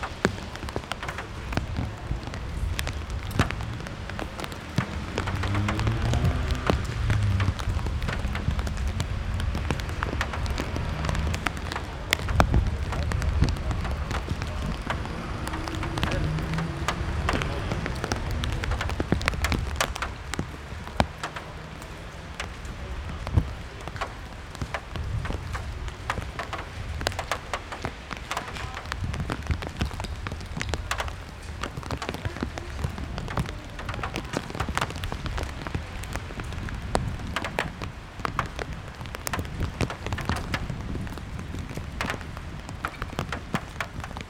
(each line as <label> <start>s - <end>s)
raindrops 0.0s - 44.2s